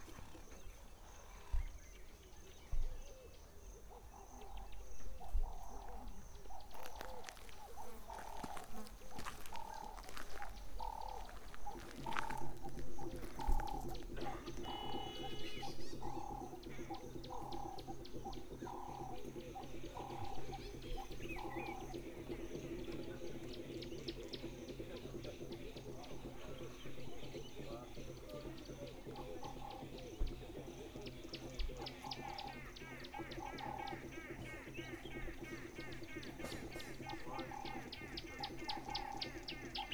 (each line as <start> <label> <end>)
0.0 birds 39.9
5.6 Drums 39.9